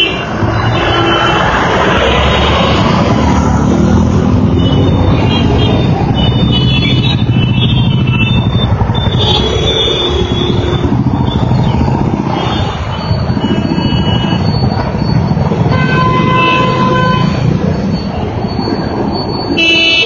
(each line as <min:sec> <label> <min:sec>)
0:00.0 traffic 0:20.0